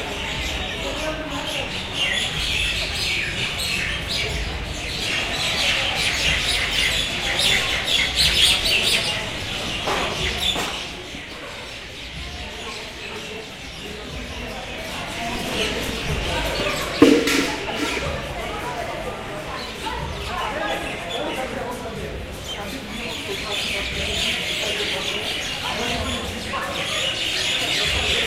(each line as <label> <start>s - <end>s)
noisy night birds 0.0s - 17.0s
human chatter 0.0s - 28.2s
noisy night birds 19.5s - 28.2s